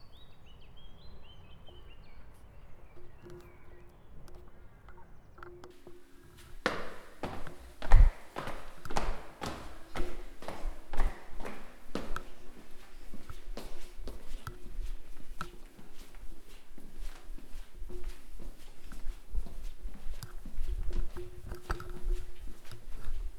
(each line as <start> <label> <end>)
0.0 stork birds 23.3